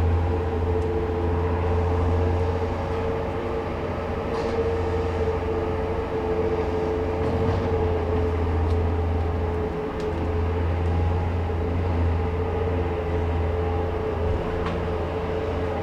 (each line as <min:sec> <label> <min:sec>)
0:06.4 Bobcat construction vehicle drives off of a truck 0:09.0